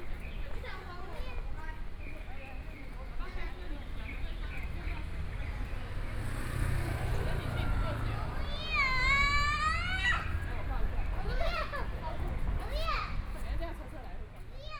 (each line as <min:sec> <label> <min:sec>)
0:00.0 walking on the Road 0:14.7
0:02.6 Traffic Sound 0:14.7